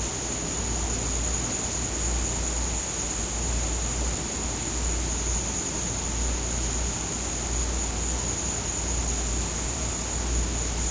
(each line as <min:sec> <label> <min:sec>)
0:00.0 crickets 0:10.9
0:00.0 wind blowing through the jungle 0:10.9